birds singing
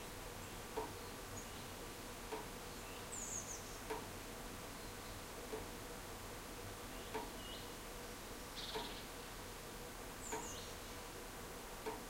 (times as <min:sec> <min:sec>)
0:02.7 0:03.9, 0:10.2 0:10.9